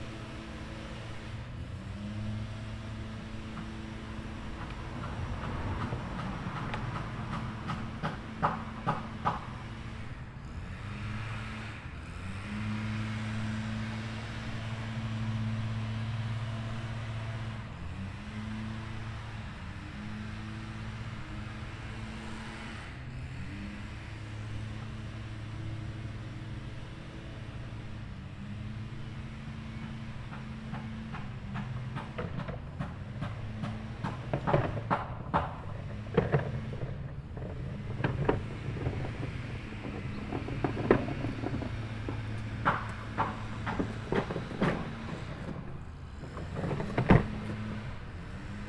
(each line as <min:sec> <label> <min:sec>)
0:00.0 construction 0:48.6
0:00.0 lawn mowers 0:48.6